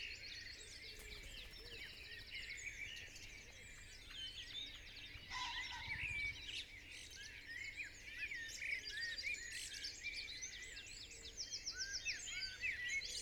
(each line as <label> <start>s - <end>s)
pheasant 0.8s - 7.2s